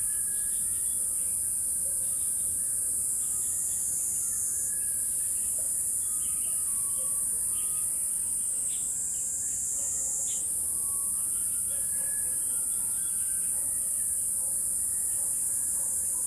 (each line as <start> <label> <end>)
0.0 insects 16.2